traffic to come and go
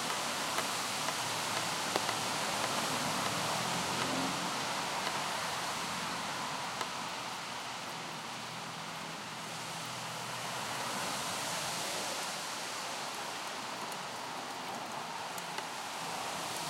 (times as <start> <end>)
0.7 7.4